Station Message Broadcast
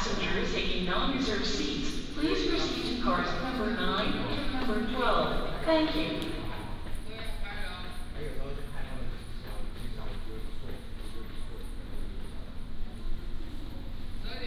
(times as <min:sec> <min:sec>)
0:00.0 0:06.8